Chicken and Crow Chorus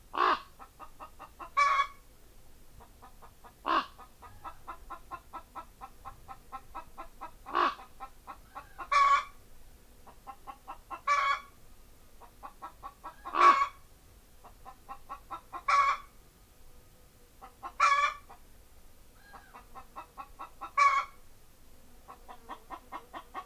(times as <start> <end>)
0.1 2.0, 2.8 9.4, 10.0 11.6, 12.2 16.2, 17.4 18.4, 19.2 21.2, 22.0 23.4